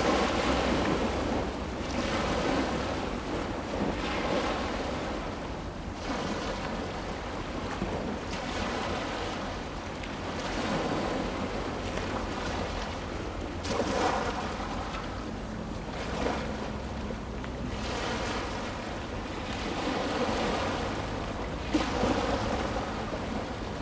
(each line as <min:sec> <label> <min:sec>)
0:00.0 river 0:23.8